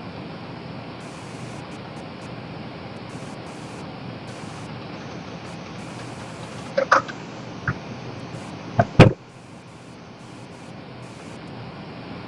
skype noise 0:01.0 - 0:02.3
skype noise 0:03.0 - 0:11.5

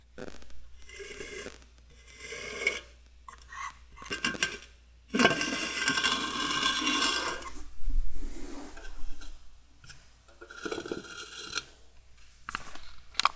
aluminum can 0:00.2 - 0:13.3

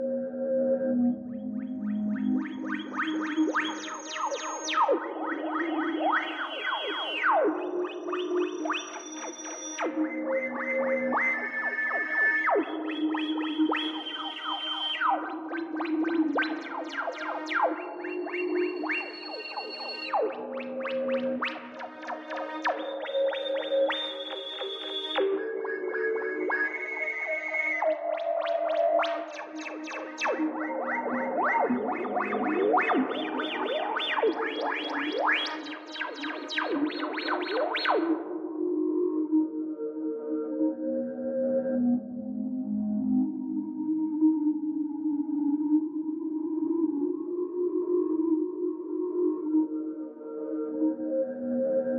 synth 0:09.8 - 0:38.6

